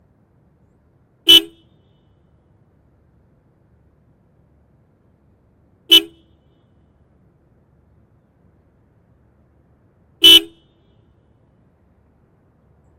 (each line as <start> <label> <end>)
0.0 engine 12.9